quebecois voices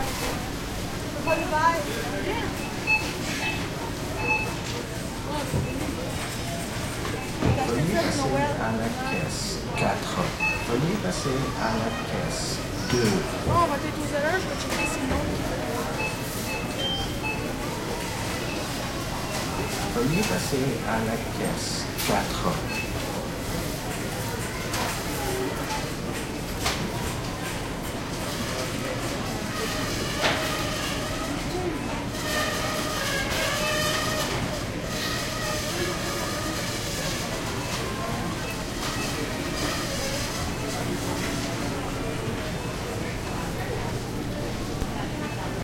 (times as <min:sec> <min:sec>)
0:05.2 0:15.9, 0:18.0 0:23.0